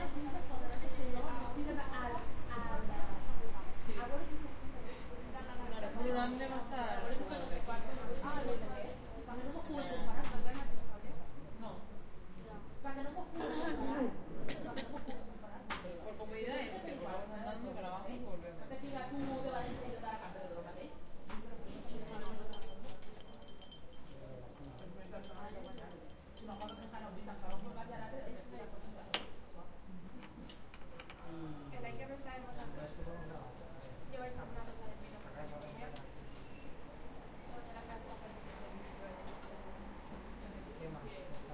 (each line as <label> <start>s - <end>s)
dialogs in Castillia 0.0s - 41.5s
cups 22.2s - 27.7s